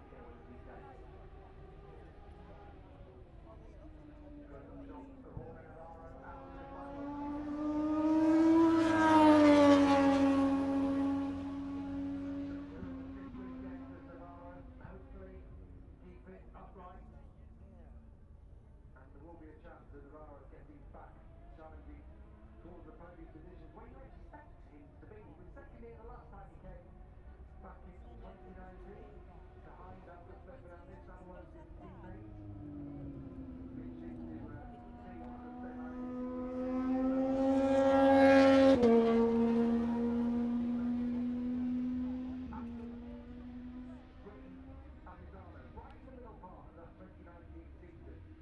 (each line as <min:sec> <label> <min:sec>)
0:00.0 motorcycle grand prix 0:48.4